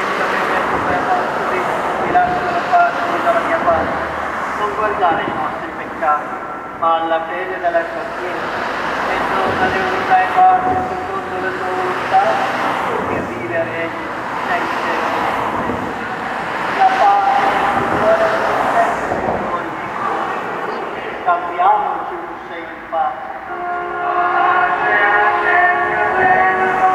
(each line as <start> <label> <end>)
0.0 Eucharist celebration 26.9
0.0 noise of the fast cars on the street 26.9
0.0 people comes out 26.9
23.5 choirs 26.9